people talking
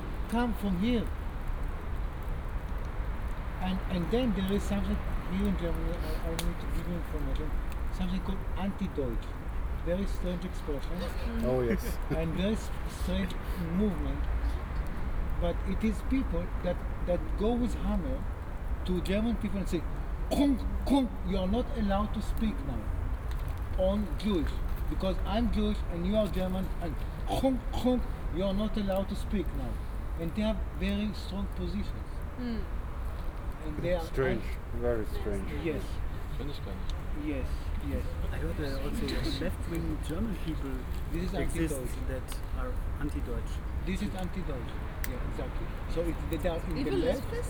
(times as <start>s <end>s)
0.3s 1.1s, 3.6s 9.3s, 9.9s 14.2s, 15.4s 18.2s, 23.8s 32.7s, 33.6s 47.4s